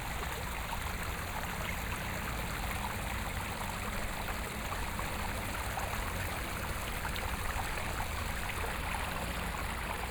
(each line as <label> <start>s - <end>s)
water 0.0s - 10.1s